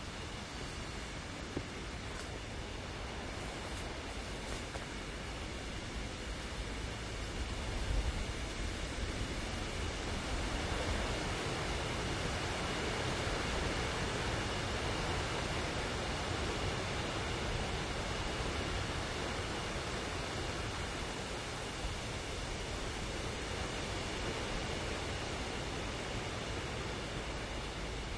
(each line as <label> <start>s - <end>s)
wind 0.0s - 28.1s